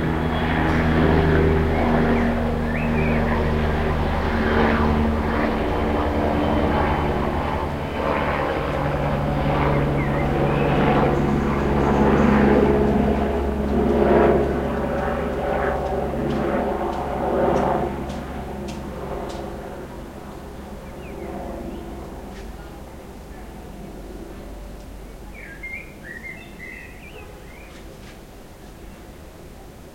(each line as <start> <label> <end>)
0.0 helicopter passes 29.7
0.0 airplane 29.9
2.7 blackbird sings 3.4
9.8 blackbird sings 10.6
25.3 blackbird sings 27.8